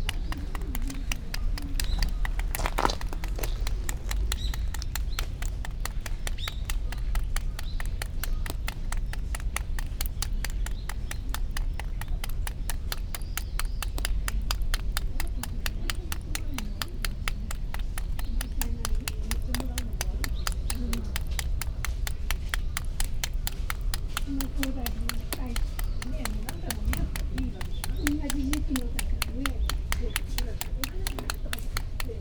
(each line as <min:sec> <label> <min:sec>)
0:00.0 water drop staccato 0:32.2